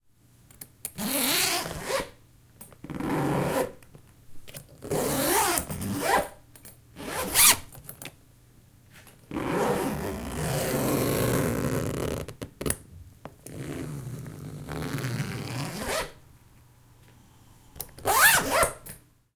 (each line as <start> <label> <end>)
4.8 zip 6.4
7.0 zip 7.7
9.3 zip 12.4
13.5 zip 16.2
18.0 zip 18.9